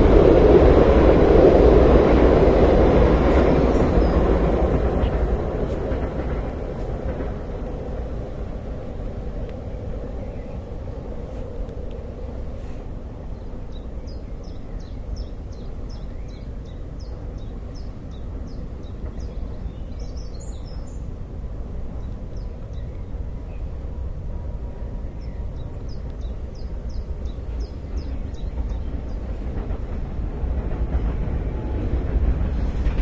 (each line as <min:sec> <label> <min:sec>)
0:00.0 traffic 0:30.3
0:00.0 airplane 0:33.0
0:00.0 two trains passing 0:33.0